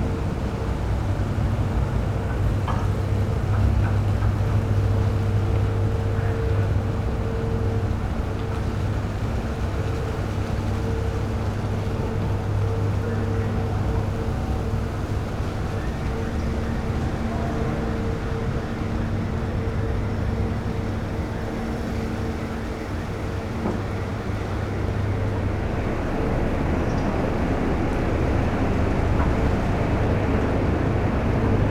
car ferry boat arrives in harbour 0:00.0 - 0:31.7

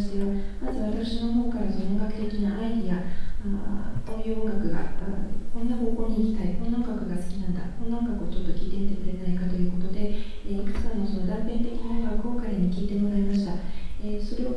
female japanese translator translating 0:00.0 - 0:14.5

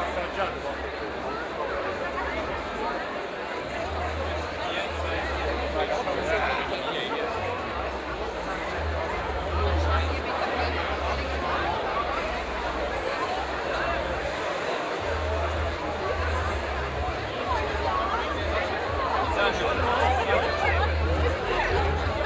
people chatting 0:00.0 - 0:22.2

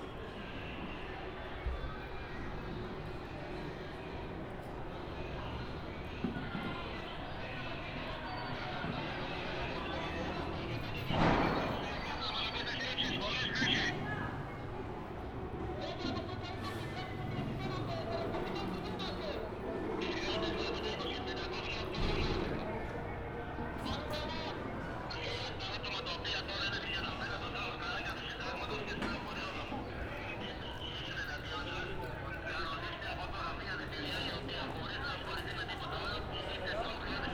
Police radio 0:07.6 - 0:14.8
Police radio 0:15.6 - 0:37.3

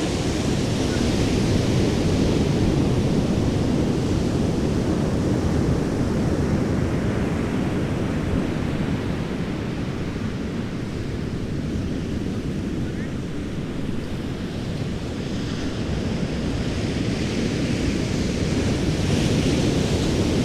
thick and rich surf sounds 0:00.0 - 0:20.4

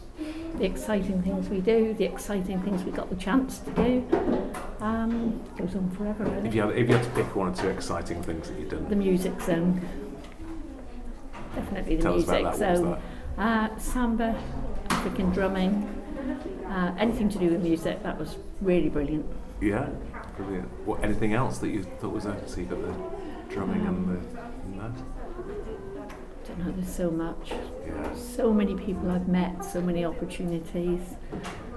Interview 0:11.6 - 0:15.9

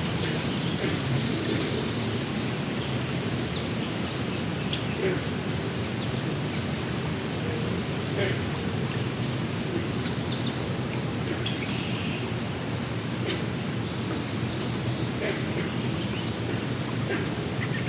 creek 0:00.0 - 0:17.8
green frogs (Rana clamitans) 0:00.0 - 0:17.8

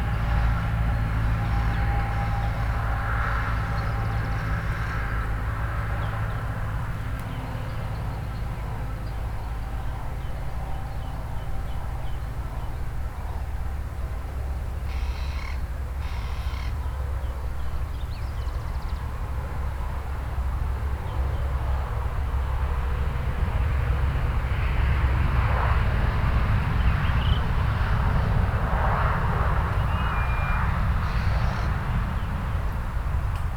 passing car or bus 0:00.0 - 0:33.5

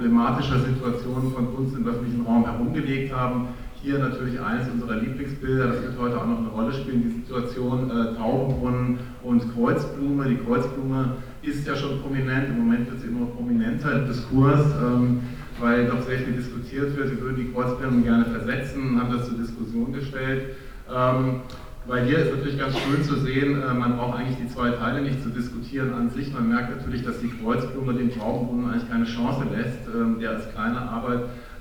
amplified speech 0:21.0 - 0:25.3

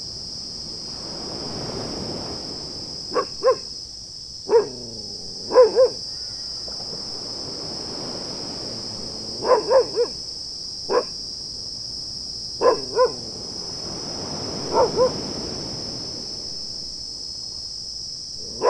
cicadas 0:00.0 - 0:18.6
barking dog 0:03.1 - 0:03.7
barking dog 0:04.5 - 0:06.0
barking dog 0:09.4 - 0:10.2
barking dog 0:10.9 - 0:11.2
barking dog 0:12.6 - 0:13.2
barking dog 0:14.7 - 0:15.2
barking dog 0:18.4 - 0:18.6

